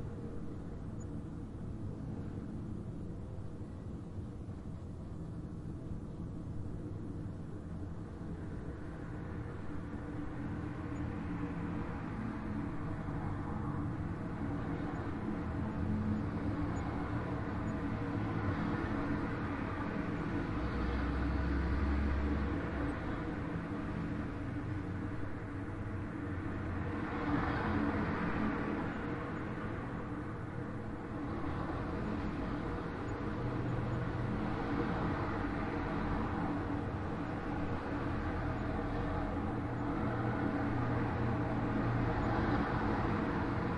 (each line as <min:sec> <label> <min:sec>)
0:00.0 Traffic heard outside closed window 0:43.7